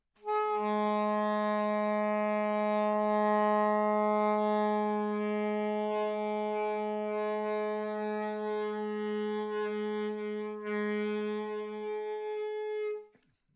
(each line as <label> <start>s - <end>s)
long tone (approx. G#) on the alto sax 0.2s - 13.1s